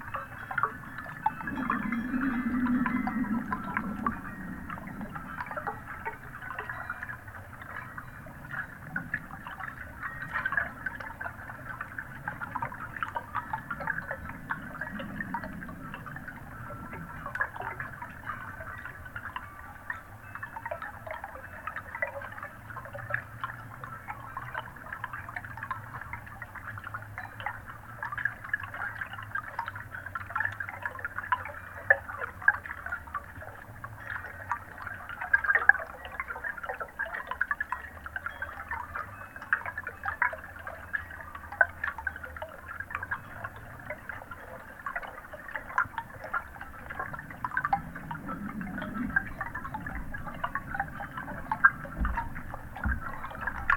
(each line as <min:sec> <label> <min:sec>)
0:00.0 chimes outside 0:53.7
0:00.0 pond underwater 0:53.7